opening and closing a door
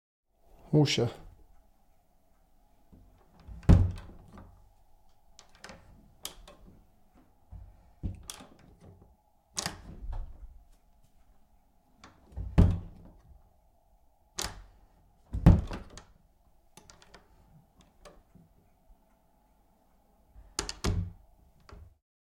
0:02.9 0:04.6, 0:05.4 0:06.9, 0:07.5 0:10.6, 0:12.0 0:13.4, 0:14.4 0:16.2, 0:16.8 0:18.3, 0:20.4 0:22.0

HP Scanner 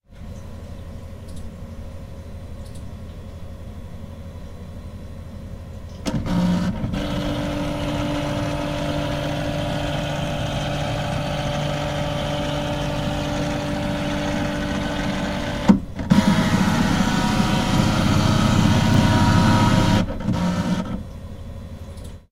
0:06.0 0:21.1

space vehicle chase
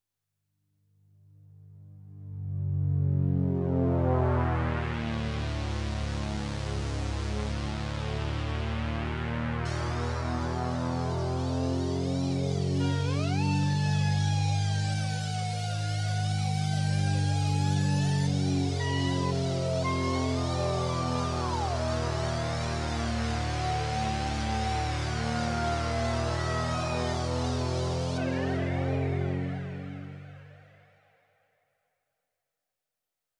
0:09.6 0:31.0

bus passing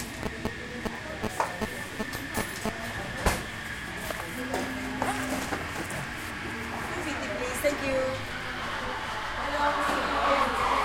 0:03.5 0:10.8

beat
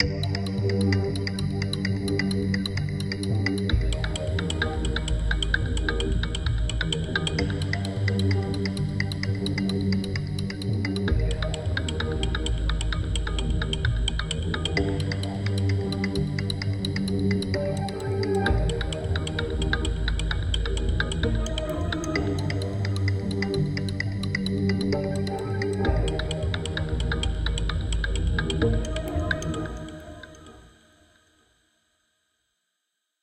0:10.9 0:30.4

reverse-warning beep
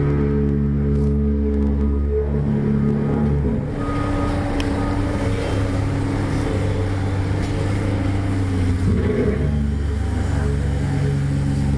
0:03.6 0:06.8

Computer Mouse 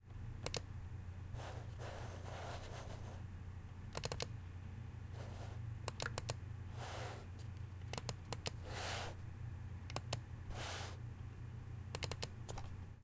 0:00.4 0:00.7, 0:03.9 0:04.3, 0:05.2 0:06.4, 0:07.8 0:09.2, 0:09.9 0:10.8, 0:11.9 0:12.8

